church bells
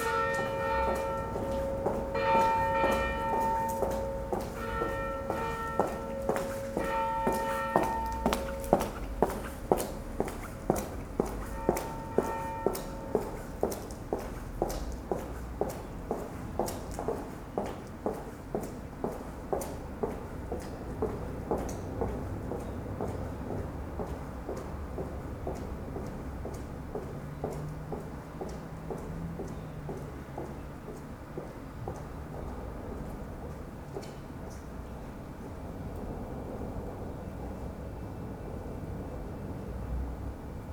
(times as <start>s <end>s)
0.0s 10.2s, 11.2s 14.3s